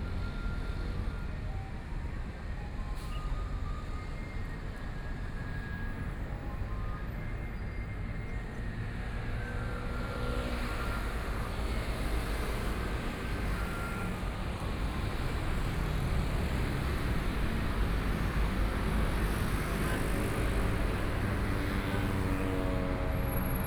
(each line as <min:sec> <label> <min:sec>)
0:08.2 Traffic Sound 0:23.6